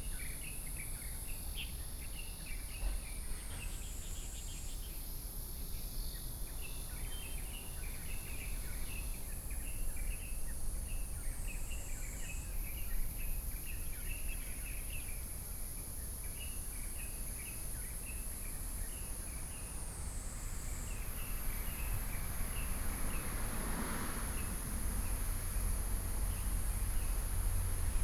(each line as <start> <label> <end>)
20.4 Traffic Sound 28.0